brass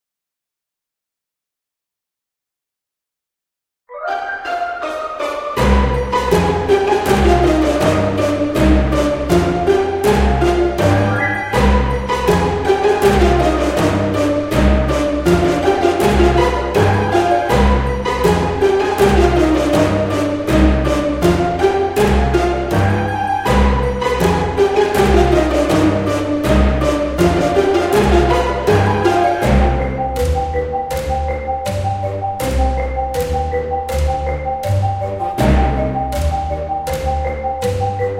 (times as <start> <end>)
3.9 29.9